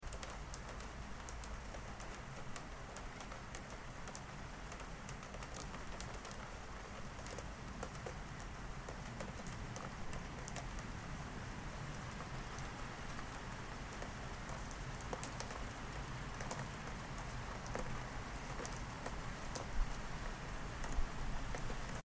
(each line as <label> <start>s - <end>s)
rain 0.0s - 22.0s